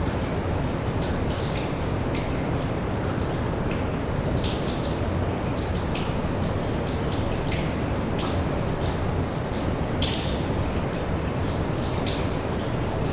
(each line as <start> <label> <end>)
0.0 underground waterfall 13.1